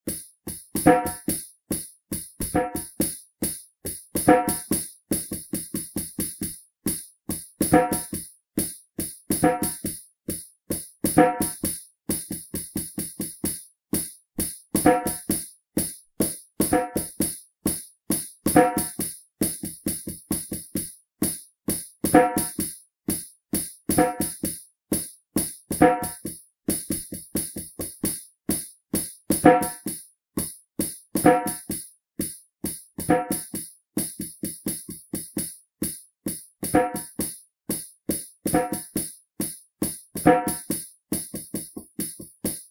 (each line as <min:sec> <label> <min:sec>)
0:00.8 tabla 0:01.4
0:00.8 djembe 0:01.4
0:02.4 djembe 0:02.9
0:04.2 tabla 0:06.5
0:04.2 djembe 0:04.8
0:07.6 djembe 0:08.1
0:07.6 tabla 0:08.2
0:09.3 tabla 0:10.0
0:09.4 djembe 0:09.8
0:11.1 tabla 0:13.6
0:11.1 djembe 0:11.7
0:14.8 djembe 0:15.3
0:14.8 tabla 0:15.4
0:16.2 tabla 0:17.3
0:16.6 djembe 0:17.2
0:18.5 djembe 0:19.0
0:18.5 tabla 0:20.9
0:22.1 tabla 0:22.7
0:22.1 djembe 0:22.6
0:23.9 tabla 0:25.1
0:24.0 djembe 0:24.5
0:25.7 tabla 0:26.3
0:29.3 tabla 0:30.0
0:29.4 djembe 0:29.8
0:31.2 tabla 0:31.8
0:31.2 djembe 0:31.7
0:33.1 djembe 0:33.5
0:33.1 tabla 0:33.6
0:36.7 djembe 0:37.1
0:38.5 djembe 0:38.9
0:38.5 tabla 0:39.0
0:40.2 tabla 0:40.8
0:40.2 djembe 0:40.7